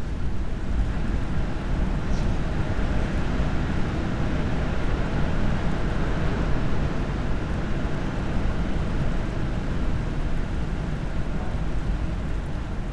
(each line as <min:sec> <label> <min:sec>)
0:00.0 constant drone of strong wind 0:12.9